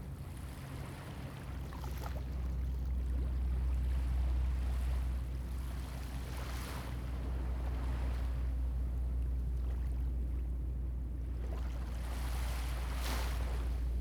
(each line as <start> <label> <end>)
0.1 waves 14.0